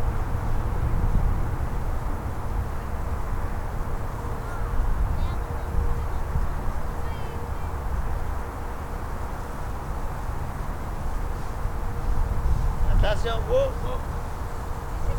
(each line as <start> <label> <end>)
0.0 father with his two kids scalling the hill 15.1
12.8 man say 14.1